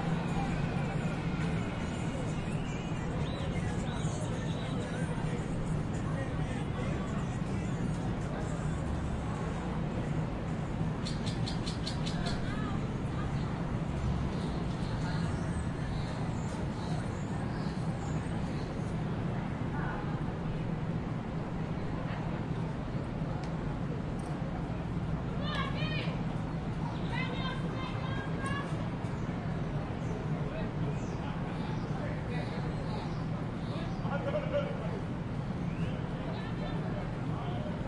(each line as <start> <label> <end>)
0.0 People board the train 37.8
0.0 train arrives 37.8
25.3 people are heard shouting 37.8